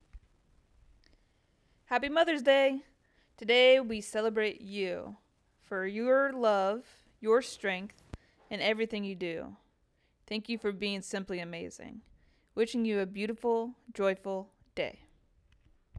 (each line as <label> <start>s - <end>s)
Mother's Day greeting 1.9s - 7.9s